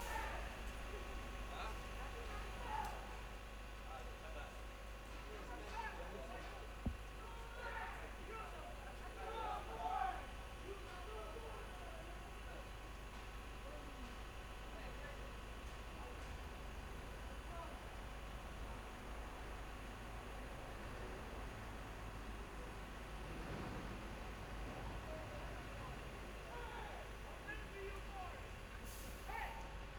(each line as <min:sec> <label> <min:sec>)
0:00.0 Bus 0:29.9
0:15.4 Traffic 0:29.9